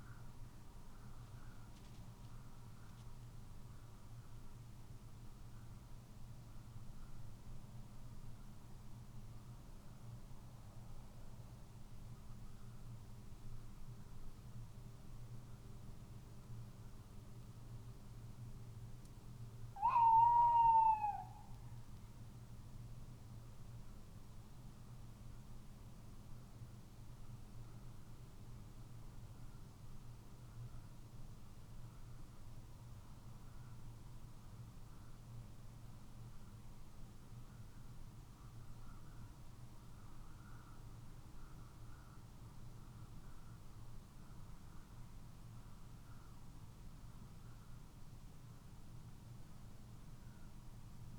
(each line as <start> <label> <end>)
19.8 tawny owl calling 21.5